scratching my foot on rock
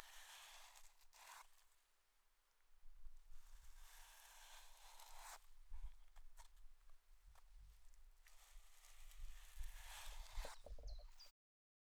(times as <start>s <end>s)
9.1s 11.0s